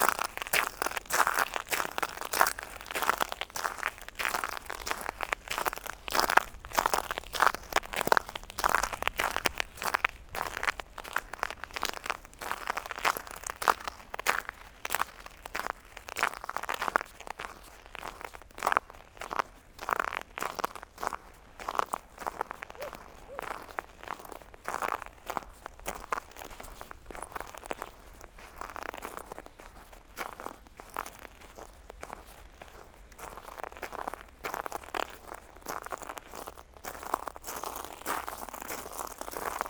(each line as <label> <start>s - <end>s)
Walking on shells 0.0s - 16.7s
Walking on shells 36.1s - 39.6s